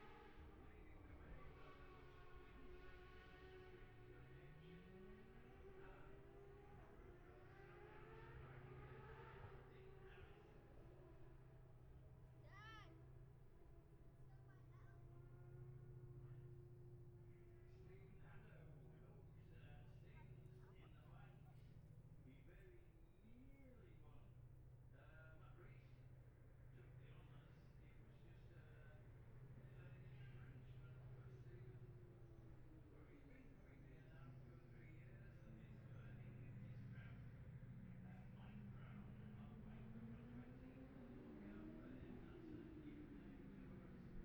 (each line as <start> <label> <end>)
1.4 road racing 11.8
34.5 road racing 44.2